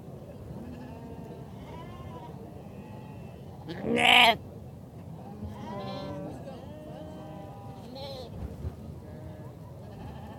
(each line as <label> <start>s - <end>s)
wind 0.0s - 10.3s
noisy lamb making its characterful bleats 0.6s - 4.4s